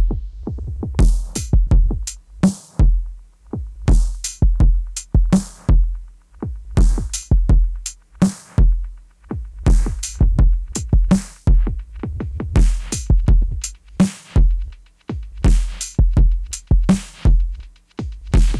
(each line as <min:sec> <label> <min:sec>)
0:00.0 Drum Loop 0:18.5